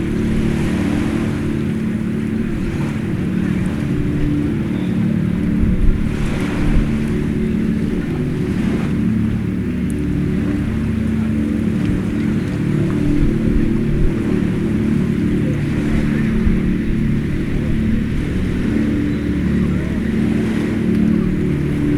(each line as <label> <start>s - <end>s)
being played on the speakers 0.0s - 21.9s